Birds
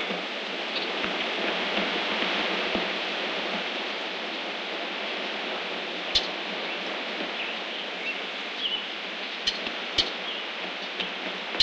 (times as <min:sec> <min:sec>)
0:00.0 0:01.2, 0:06.0 0:11.6